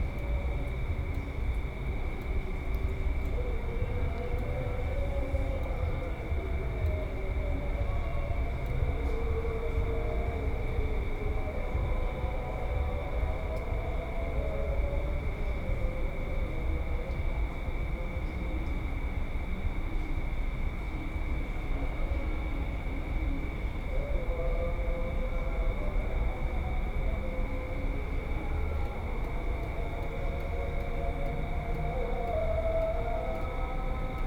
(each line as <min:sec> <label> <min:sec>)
0:23.2 call for evening prayers 0:34.2